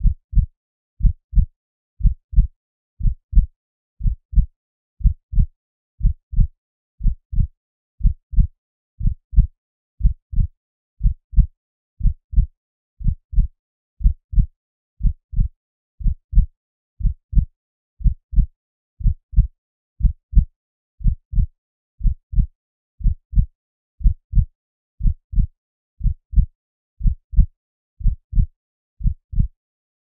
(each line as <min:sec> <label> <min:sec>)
0:00.0 synthesised heartbeat 0:29.5